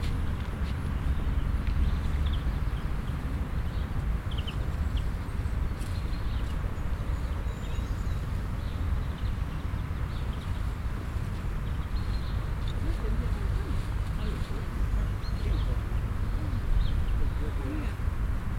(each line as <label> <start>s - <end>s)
birds 0.0s - 18.5s
mellow wind 0.0s - 18.5s
traffic 0.0s - 18.5s
conversation of passing bye, surviving dependants 9.6s - 18.5s